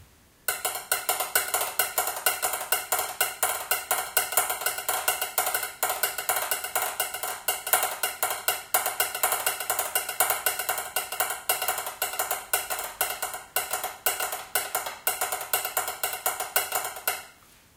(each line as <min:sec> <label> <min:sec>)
0:00.5 rhythms created using kitchen implements 0:17.4